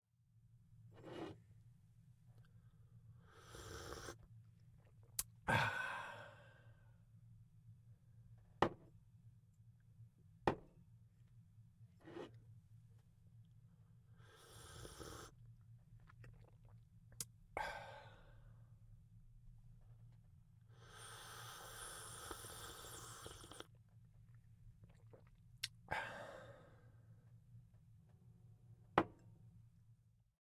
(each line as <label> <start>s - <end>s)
Coffee Slurping 14.3s - 15.4s
Coffee Slurping 16.0s - 16.8s
Coffee Slurping 21.0s - 23.8s